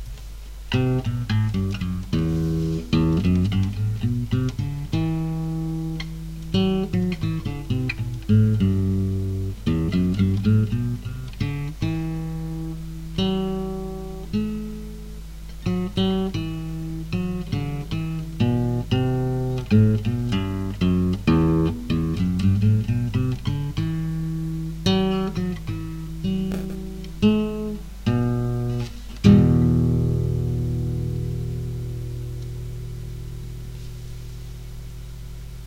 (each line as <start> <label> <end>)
0.0 nylon guitar 35.0